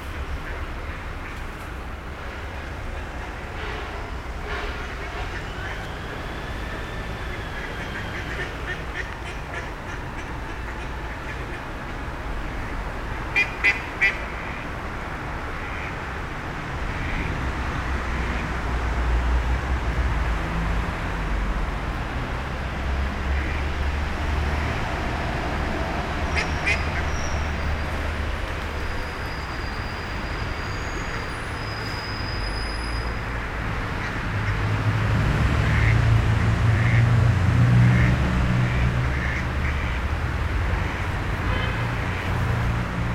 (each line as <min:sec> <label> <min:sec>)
0:00.0 cars everywhere 0:43.1